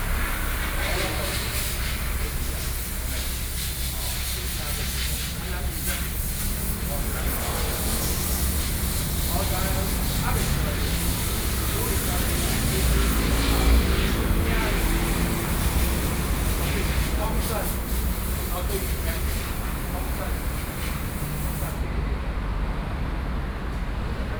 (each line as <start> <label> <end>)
0.0 Traffic Sound 24.3